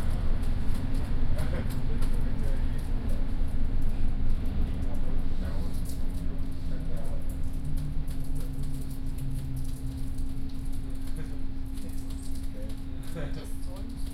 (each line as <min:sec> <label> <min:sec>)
0:00.0 riding a subway train 0:09.8